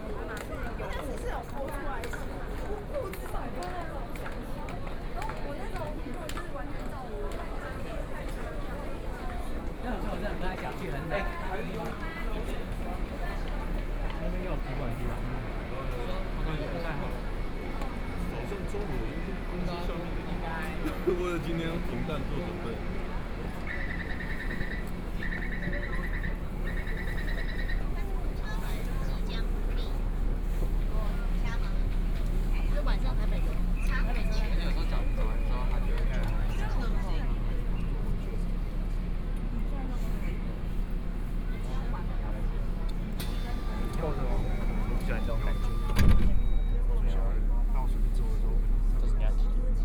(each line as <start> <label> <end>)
0.0 Walking in the station 49.8